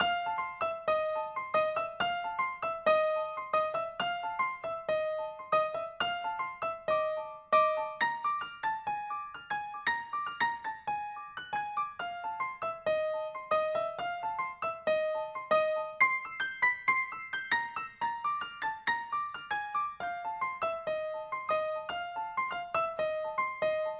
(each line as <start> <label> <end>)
0.0 Piano 23.9